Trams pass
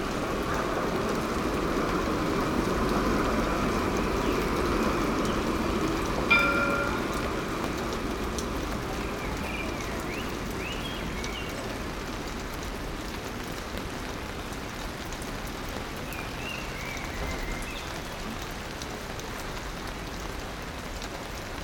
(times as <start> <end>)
0.0 14.8